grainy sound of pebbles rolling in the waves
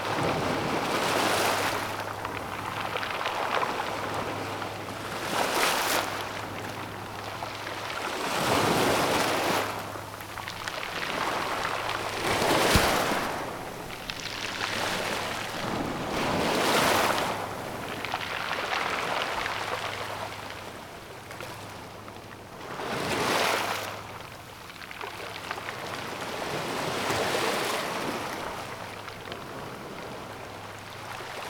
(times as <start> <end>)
0.1 20.8